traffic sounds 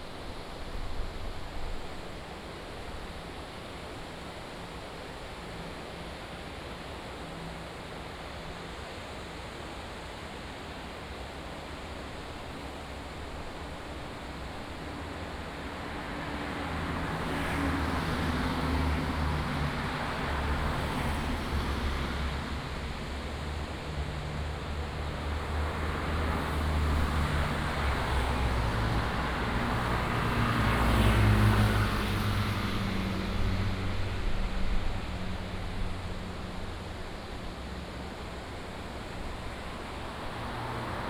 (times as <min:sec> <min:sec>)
0:14.2 0:41.0